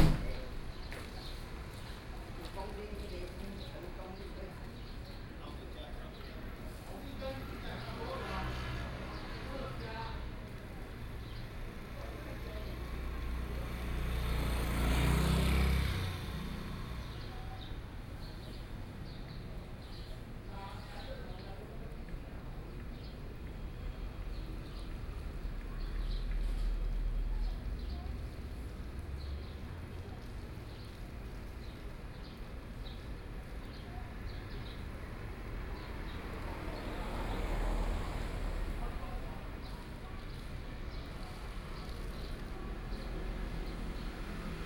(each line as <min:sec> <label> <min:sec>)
0:00.0 Traffic Sound 0:44.6